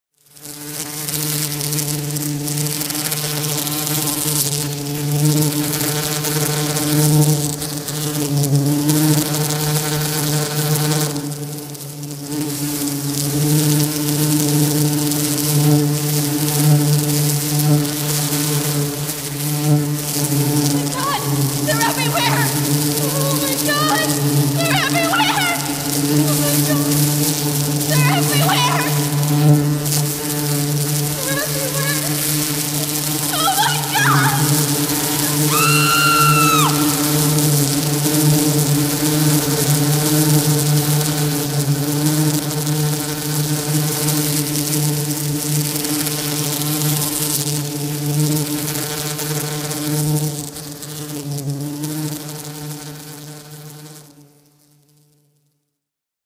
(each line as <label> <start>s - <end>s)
Killer Bee Attack 13.3s - 44.7s
screaming 20.8s - 26.9s
screaming 32.8s - 37.7s